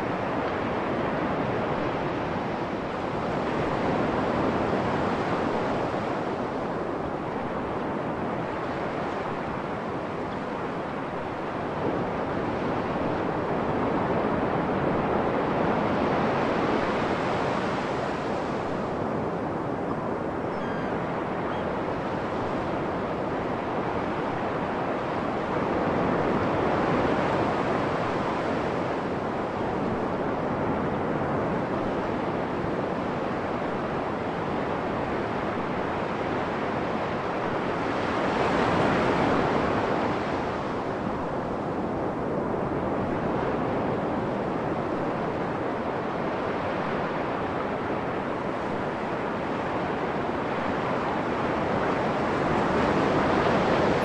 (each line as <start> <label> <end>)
0.0 waves 54.0
20.5 seagulls 21.8